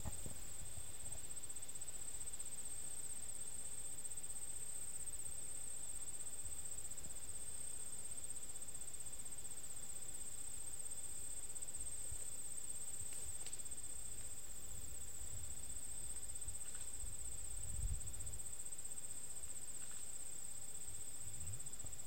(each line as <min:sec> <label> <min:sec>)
0:00.0 crickets in the woods 0:22.0